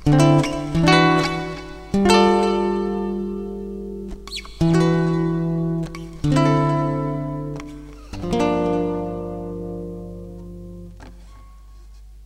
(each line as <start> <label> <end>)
0.0 7th chords played on a nylon string guitar 11.6